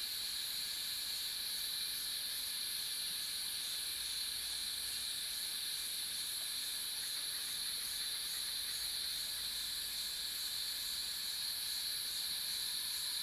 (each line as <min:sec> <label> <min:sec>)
0:00.1 Cicada sounds 0:13.2